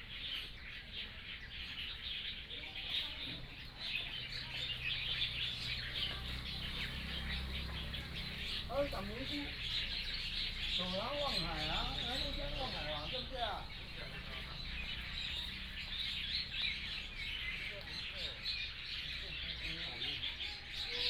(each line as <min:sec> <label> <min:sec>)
0:00.0 Birds singing 0:21.0